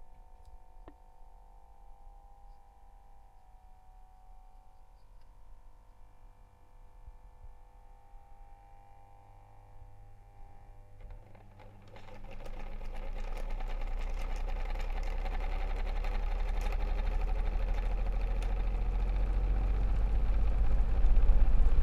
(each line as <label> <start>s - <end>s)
fan 9.2s - 21.8s